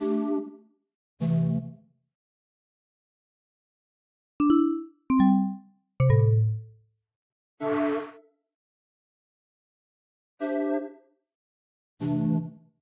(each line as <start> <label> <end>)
4.4 Menu sounds 6.6